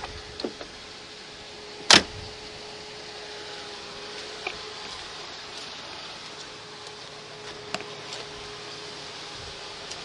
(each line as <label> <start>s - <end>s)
abnormal wind noise 0.0s - 3.0s
engine 0.0s - 10.0s
abnormal wind noise 6.4s - 9.9s